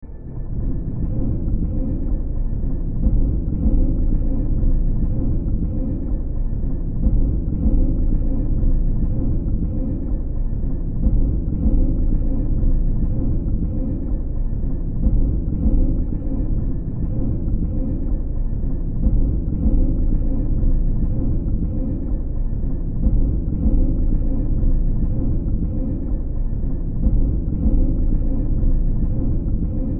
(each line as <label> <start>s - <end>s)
Drone 0.0s - 29.9s